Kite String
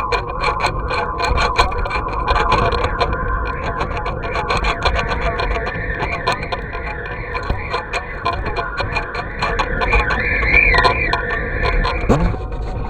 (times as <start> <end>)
12.1 12.5